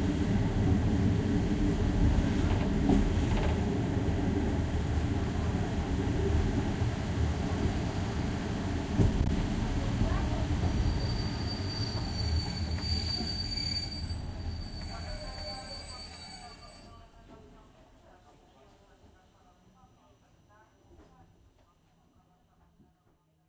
train journey 0:00.0 - 0:23.4

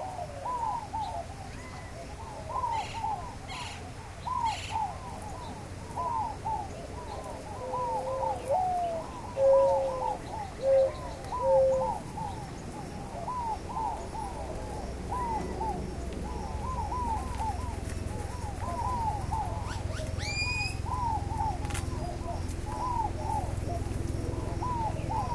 Gambel's Quail 0:00.0 - 0:25.3
Great-tailed Grackle 0:00.0 - 0:25.3
Inca Dove 0:00.0 - 0:25.3
Mourning Dove 0:00.0 - 0:25.3
Northern Cardinal 0:00.0 - 0:25.3
White-winged Dove 0:00.0 - 0:25.3
Gila Woodpecker 0:13.2 - 0:25.3

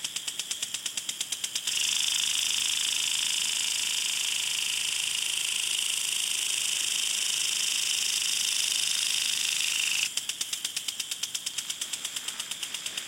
home lawn sprinkler 0:00.0 - 0:13.0

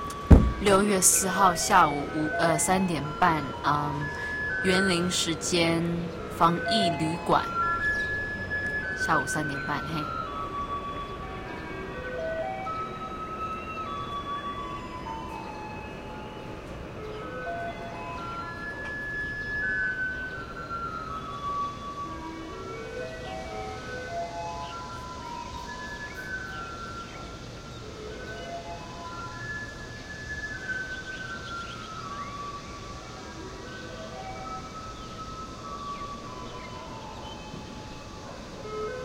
Taiwan Garbage truck song 0:00.0 - 0:39.0
traffic 0:00.0 - 0:39.0

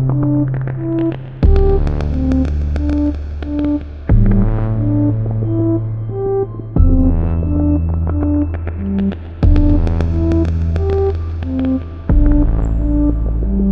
filtered percussion 0:00.0 - 0:05.8
filtered percussion 0:06.8 - 0:13.7

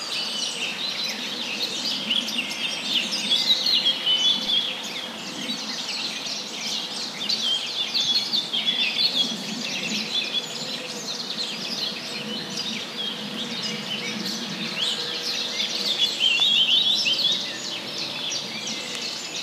birds 0:00.0 - 0:19.4

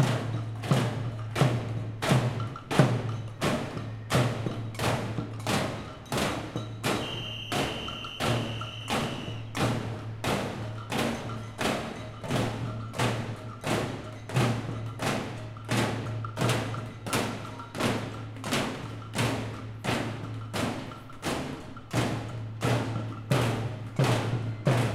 Street protest 0:00.0 - 0:24.9
batucada 0:05.7 - 0:21.9

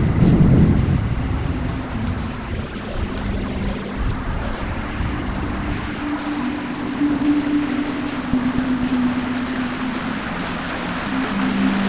drone 0:00.0 - 0:11.8
floods 0:00.0 - 0:11.8
sounds from living creatures 0:01.9 - 0:11.8

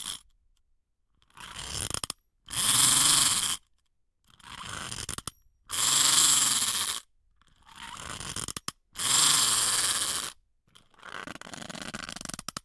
ladybug wind-up tin toy 0:01.2 - 0:03.7
ladybug wind-up tin toy 0:04.3 - 0:12.6

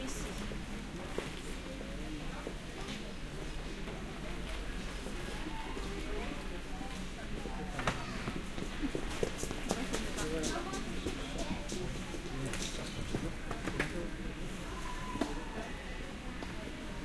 vendors and customers talking 0:00.0 - 0:17.0
children 0:07.7 - 0:09.0

